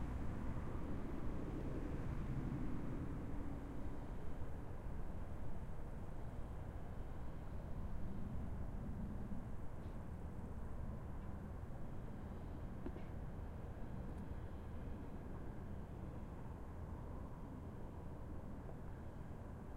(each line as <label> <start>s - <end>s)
car 0.0s - 19.7s
distant ferry drones 0.0s - 19.7s